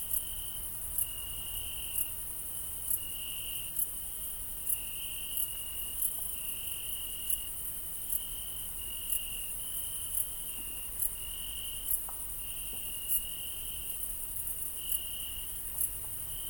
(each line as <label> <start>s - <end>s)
High-pitched crickets over mass of crickets 0.0s - 16.4s